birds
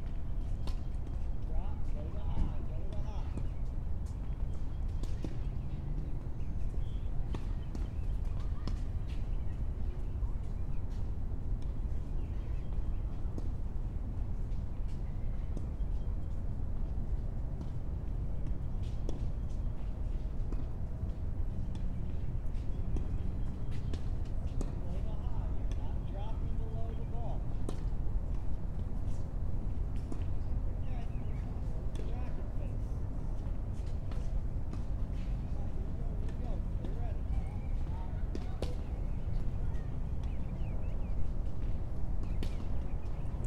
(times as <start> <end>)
18.5 27.9, 30.0 43.4